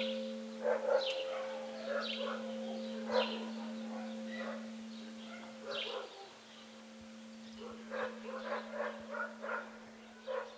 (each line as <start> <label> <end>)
0.0 dogs kept in cages near the church bell tower start barking 6.5
1.2 loud sound of the bell 6.0
7.6 dogs kept in cages near the church bell tower start barking 10.5